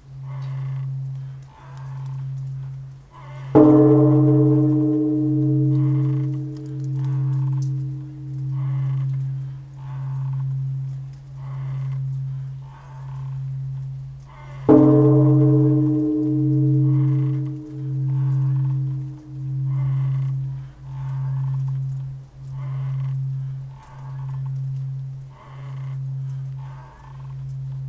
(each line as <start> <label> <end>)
0.0 Temple Bell 27.8
3.5 footsteps of the bell-ringer 26.7